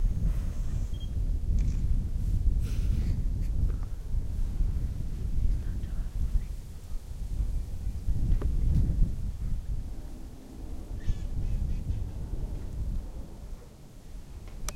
sounds of a captures with a camera 0.8 - 1.9
birdsong 9.4 - 12.6

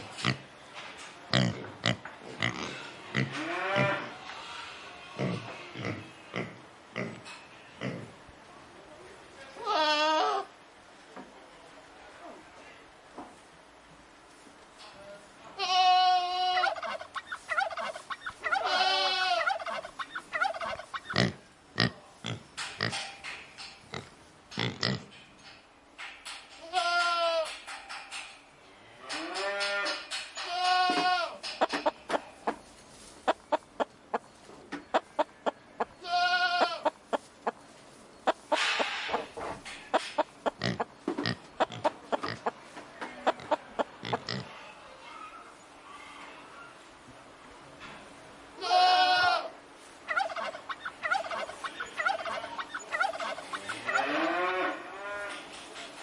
Animals 1.3 - 8.2
Animals 16.3 - 25.2
Animals 29.0 - 46.9
Animals 48.7 - 56.0

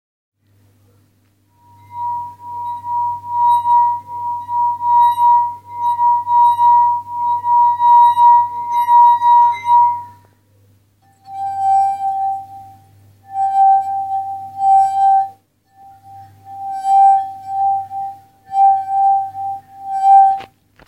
Sliding my dry fingers through a wet, glass cup 1.6 - 10.2
Sliding my dry fingers through a wet, glass cup 11.2 - 20.5

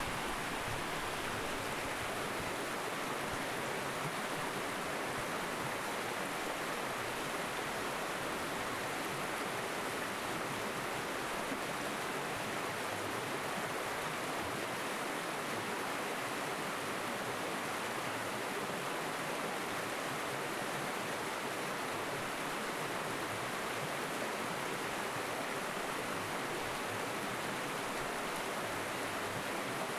Small rocky river bank flowing 0.0 - 29.9

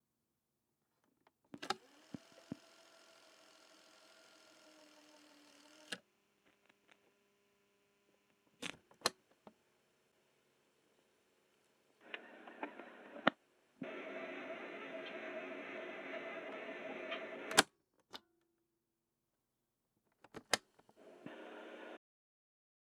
Cassette Tape Player Sounds 1.6 - 7.0
Cassette Tape Player Sounds 12.0 - 17.7
Cassette Tape Player Sounds 20.3 - 22.0

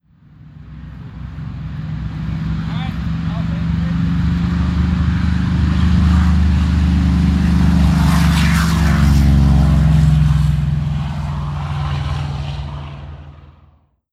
Corsair passing by 0.2 - 13.8

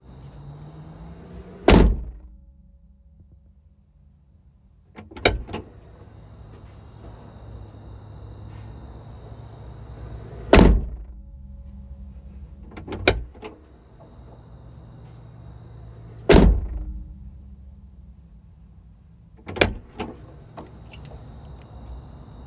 Jeep Wangler Back Hatch Tailgate Door 5.0 - 5.8
Jeep Wangler Back Hatch Tailgate Door 12.7 - 13.7
Jeep Wangler Back Hatch Tailgate Door 16.2 - 17.1
Jeep Wangler Back Hatch Tailgate Door 19.4 - 21.1

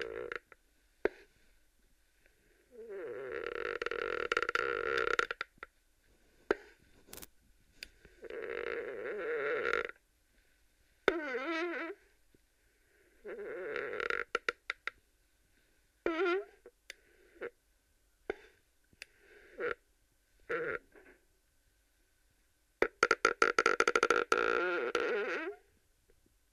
chair squeaking 3.0 - 5.5

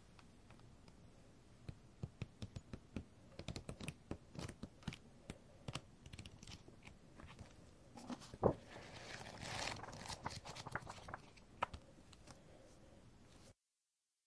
flipping through and turning pages in a book 2.1 - 5.0
flipping through and turning pages in a book 5.6 - 12.4

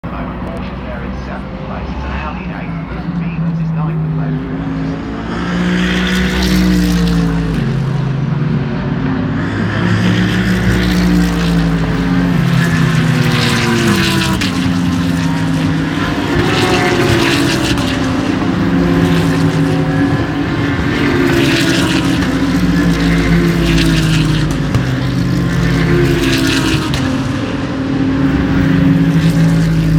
Commentators faintly heard 0.0 - 5.3
Loud supercars constantly passing by 0.0 - 29.9

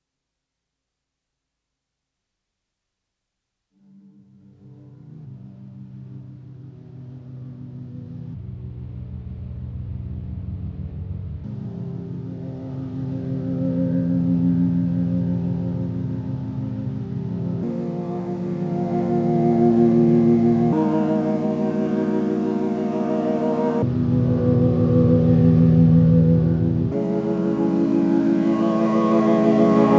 Synth 11.5 - 29.9

